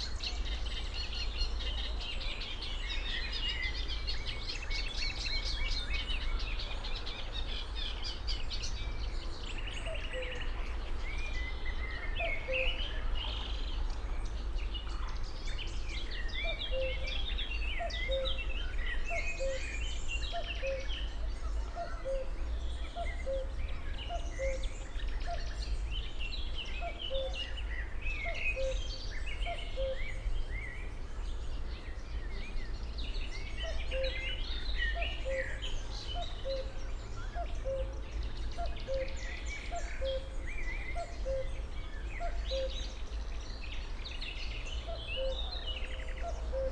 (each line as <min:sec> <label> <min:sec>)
0:00.0 small Berlin inner-city river 0:46.7
0:17.8 cuckoo 0:18.4
0:20.4 cuckoo 0:20.9
0:21.6 cuckoo 0:25.5
0:26.8 cuckoo 0:27.6
0:28.2 cuckoo 0:30.1
0:34.9 cuckoo 0:41.6
0:42.2 cuckoo 0:42.9
0:44.9 cuckoo 0:46.7